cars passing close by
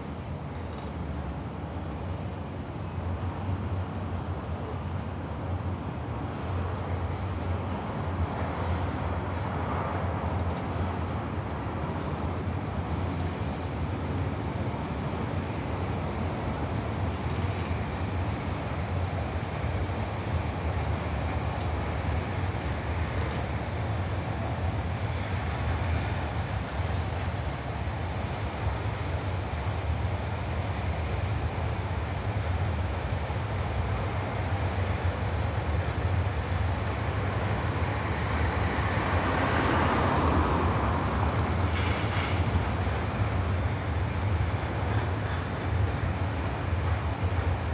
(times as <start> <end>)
37.9 42.4